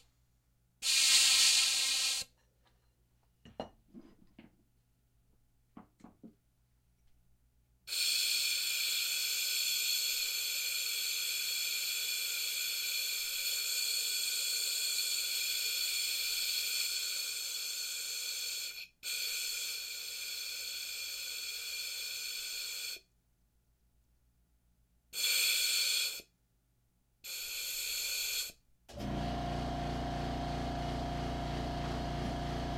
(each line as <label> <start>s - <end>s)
steam pipe 0.8s - 2.3s
steam pipe 7.9s - 23.0s
steam pipe 27.3s - 28.5s